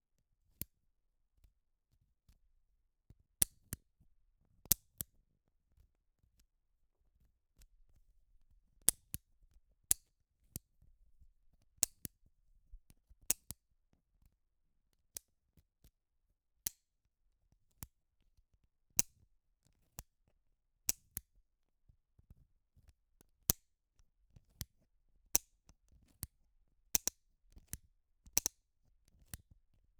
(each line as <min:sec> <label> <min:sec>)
0:03.1 Bic 4in1 pen, clicking and unscrewing the thing 0:03.9
0:04.6 Bic 4in1 pen, clicking and unscrewing the thing 0:05.2
0:07.2 Bic 4in1 pen, clicking and unscrewing the thing 0:13.7
0:16.6 Bic 4in1 pen, clicking and unscrewing the thing 0:17.0
0:19.0 Bic 4in1 pen, clicking and unscrewing the thing 0:20.2
0:20.9 Bic 4in1 pen, clicking and unscrewing the thing 0:21.4
0:22.2 Bic 4in1 pen, clicking and unscrewing the thing 0:26.4
0:27.0 Bic 4in1 pen, clicking and unscrewing the thing 0:29.9